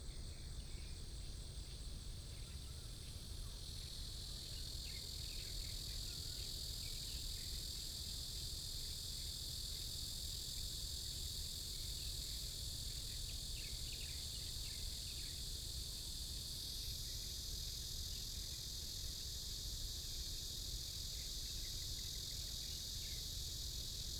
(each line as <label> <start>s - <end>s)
Cicadas sound 12.0s - 24.1s